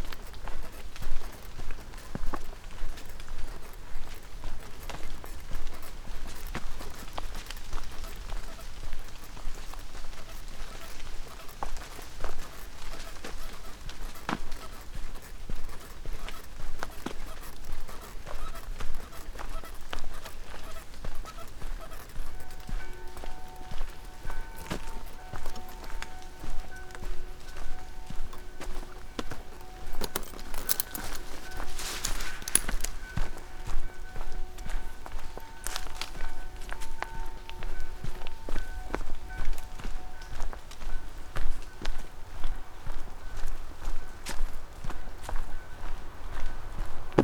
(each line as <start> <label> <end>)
4.8 squeaking umbrella 38.4